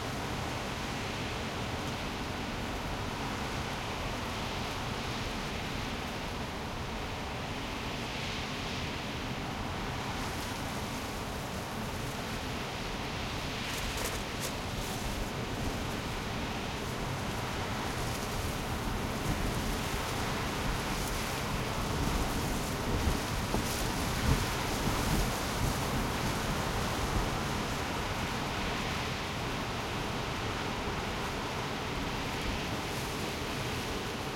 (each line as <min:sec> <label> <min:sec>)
0:00.1 Heavy wind recorded from the interior of a car 0:34.3